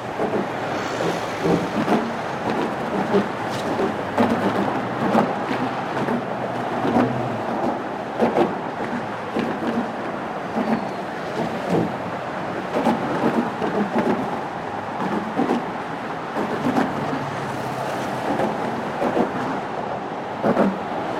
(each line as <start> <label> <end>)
0.0 traffic noise 21.1
0.0 wind 21.1